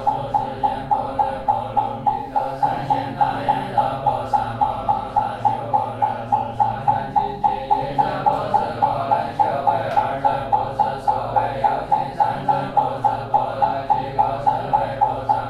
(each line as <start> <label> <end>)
0.0 Young buddhist monks practising 15.4
0.0 metronome 15.4